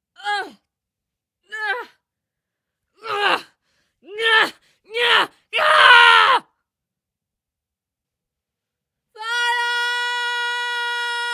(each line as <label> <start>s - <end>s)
Screams of a female warrior 0.2s - 0.6s
Screams of a female warrior 1.5s - 2.0s
Screams of a female warrior 3.0s - 6.6s
Screams of a female warrior 9.1s - 11.3s